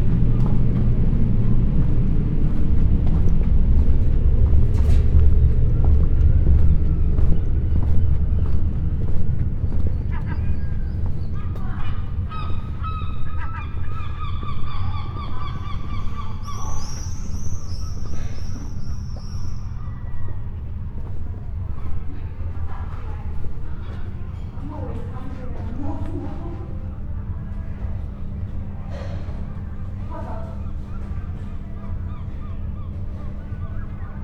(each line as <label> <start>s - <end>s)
voices 5.0s - 34.2s
gulls 9.9s - 20.4s
gulls 30.0s - 34.2s